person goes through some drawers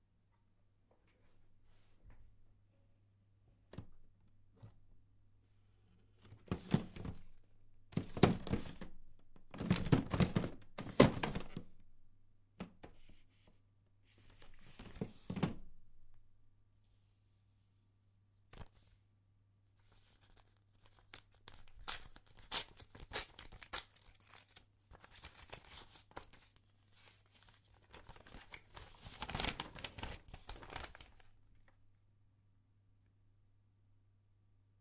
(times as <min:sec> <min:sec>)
0:06.1 0:11.7, 0:14.1 0:15.7, 0:24.3 0:31.3